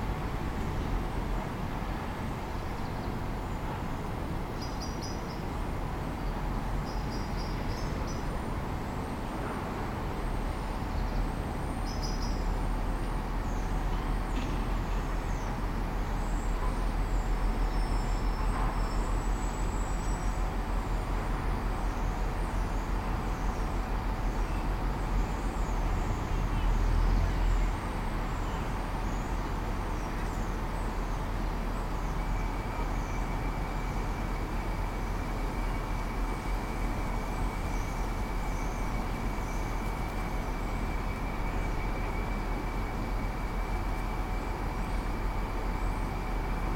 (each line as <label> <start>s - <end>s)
bass of traffic 0.0s - 46.7s
singing tones of the bus brakes 21.9s - 46.7s